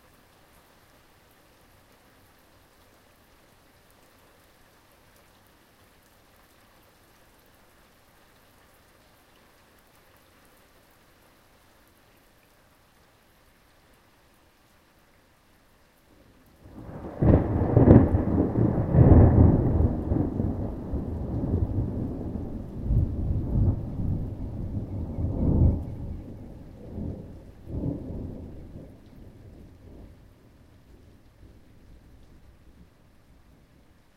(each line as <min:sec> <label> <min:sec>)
0:00.0 rain 0:34.1
0:16.6 thunder 0:30.1